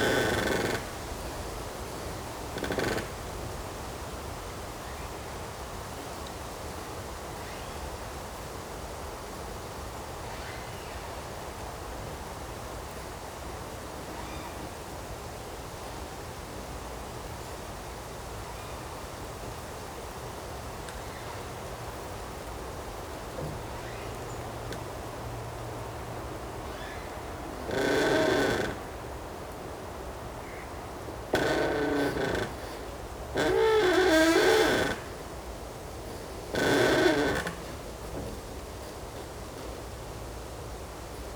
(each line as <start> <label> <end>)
0.0 Creaking tree 1 internal and external 3.6
23.3 Creaking tree 1 internal and external 29.4
30.4 Creaking tree 1 internal and external 39.8